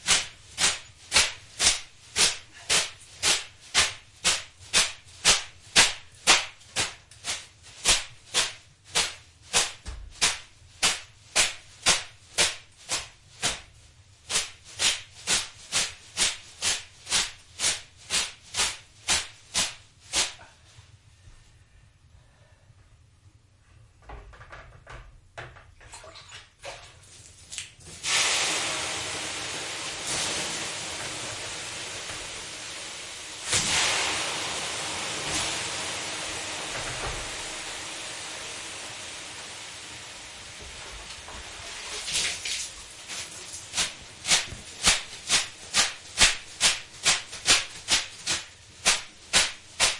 bath whisk 0.0 - 20.6
bath whisk 41.4 - 49.9

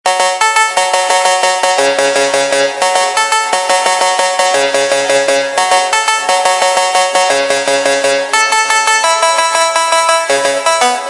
synth 0.1 - 11.0

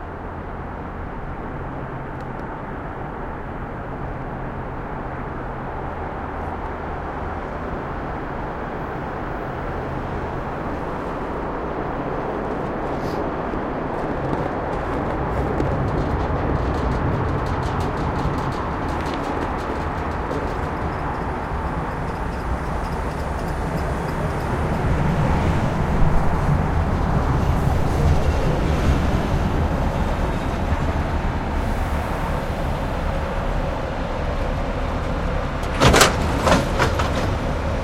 train going by 3.9 - 37.8

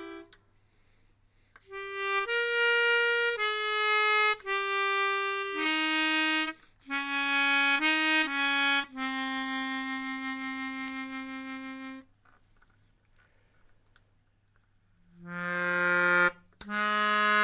melodica 0.0 - 0.4
melodica 1.7 - 12.1
melodica 15.2 - 17.4

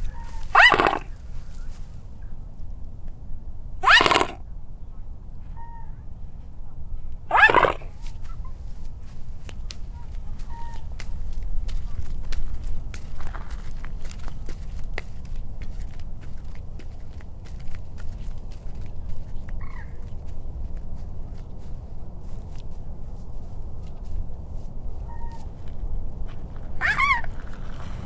Swan Signet Honk 0.0 - 1.7
air traffic 0.0 - 28.0
Swan Signet Honk 3.8 - 4.4
Swan Signet Honk 5.5 - 6.0
Swan Signet Honk 9.9 - 10.9
Swan Signet Honk 25.0 - 25.5
Swan Signet Honk 26.8 - 27.4

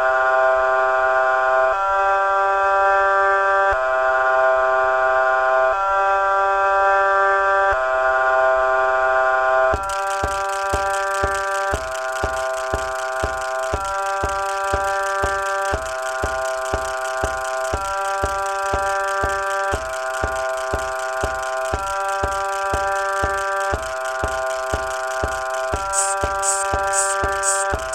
synth 9.8 - 27.9

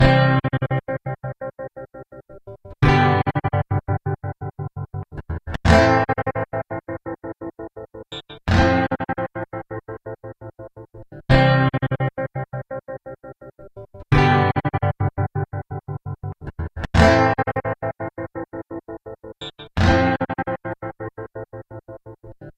Guitar 0.0 - 22.5

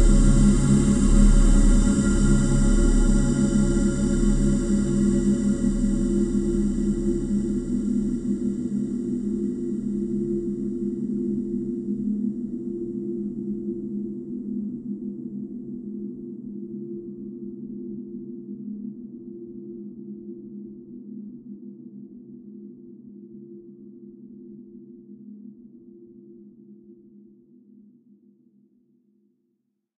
synth 0.0 - 9.8
high frequency resonance 0.0 - 10.7

